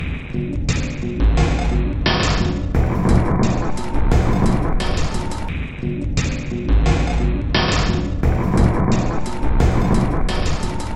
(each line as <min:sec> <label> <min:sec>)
0:00.0 Drum 0:10.9